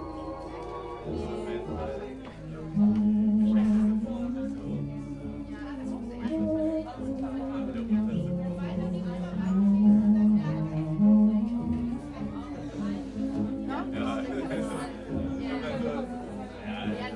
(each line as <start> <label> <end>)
0.0 1920s music 17.1